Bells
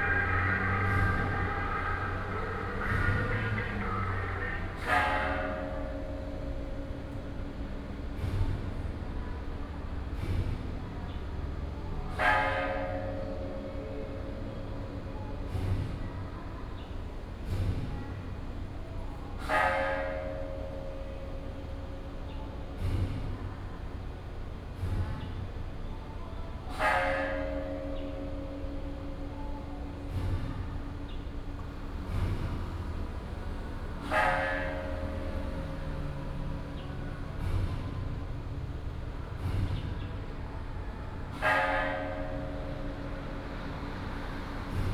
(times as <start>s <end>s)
0.0s 8.7s, 26.1s 39.4s